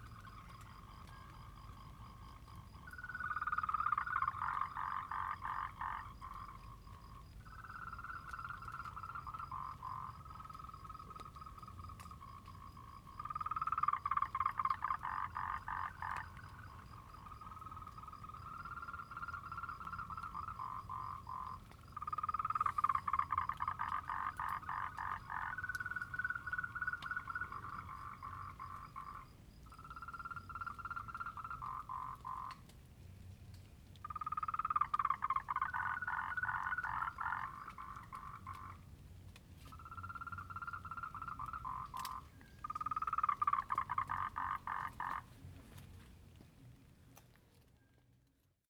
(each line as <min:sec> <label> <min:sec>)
0:00.0 Frogs chirping 0:32.7
0:33.9 Frogs chirping 0:39.0
0:39.6 Frogs chirping 0:45.4